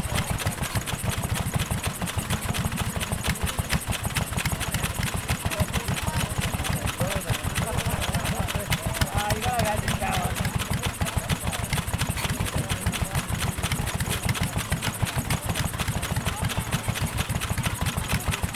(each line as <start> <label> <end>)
0.0 Vintage portable steam and petrol engines 18.5
0.0 chatter of crowd 18.5
0.0 flywheels spin 18.5
0.0 phasing sounds from buskers in distance 18.5
0.2 belts slap and flail 18.5
9.7 pumps shift water around tanks 18.5